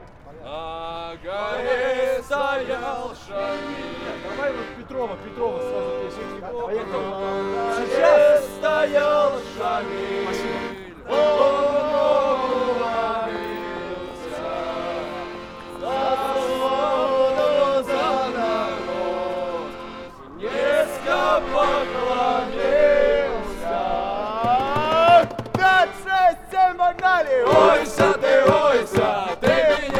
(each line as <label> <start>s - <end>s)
Students singing 0.5s - 4.7s
Students singing 5.5s - 26.6s
Students singing 27.4s - 29.9s